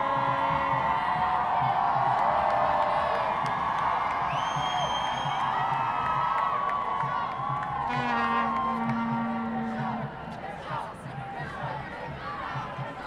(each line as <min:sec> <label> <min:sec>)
0:05.3 Climate protests 0:13.0